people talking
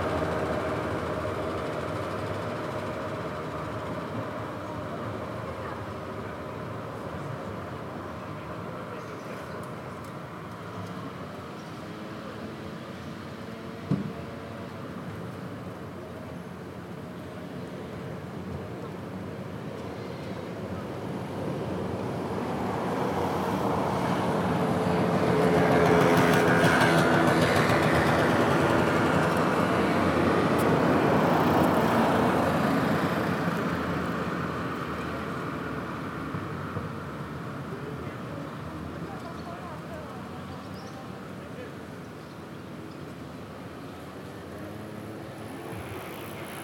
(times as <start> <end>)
4.6 9.8, 37.7 41.9